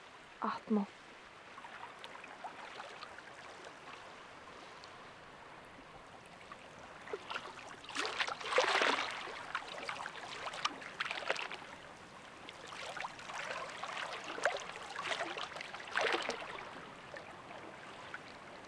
ocean 0.0 - 18.6

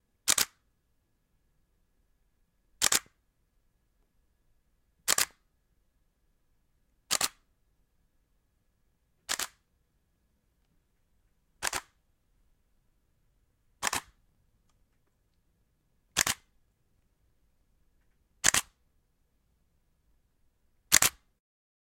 Camera Shutters 0.3 - 0.6
Camera Shutters 2.8 - 3.2
Camera Shutters 5.1 - 5.4
Camera Shutters 7.1 - 7.4
Camera Shutters 9.3 - 9.6
Camera Shutters 11.6 - 12.0
Camera Shutters 13.8 - 14.2
Camera Shutters 16.2 - 16.5
Camera Shutters 18.4 - 18.8
Camera Shutters 20.9 - 21.3

